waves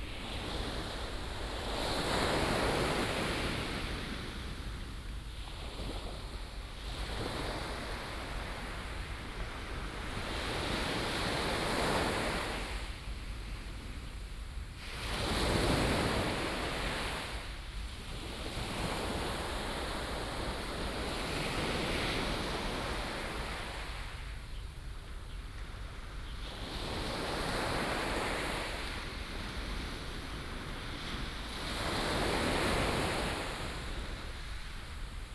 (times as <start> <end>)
14.8 24.4, 25.6 35.3